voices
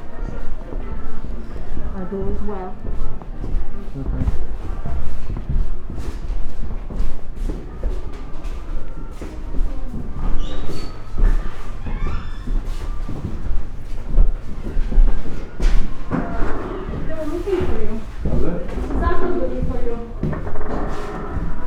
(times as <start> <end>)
0.0 5.0, 15.3 20.4